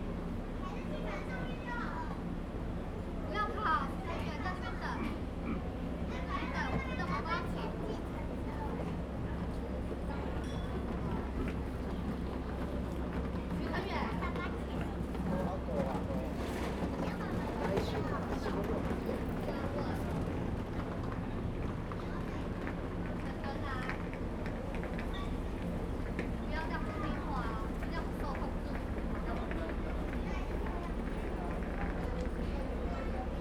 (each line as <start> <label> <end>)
7.8 Tourists 33.4